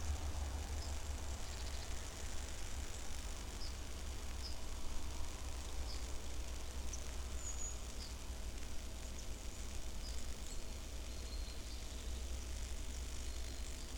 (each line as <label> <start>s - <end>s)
cracking and crackling electricity in the wires 0.0s - 13.9s